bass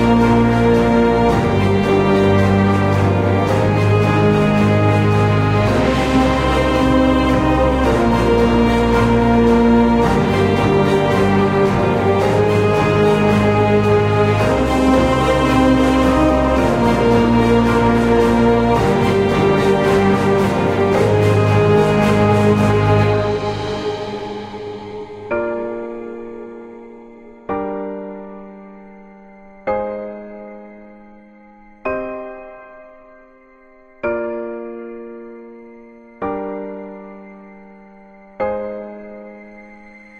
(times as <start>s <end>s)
0.0s 25.1s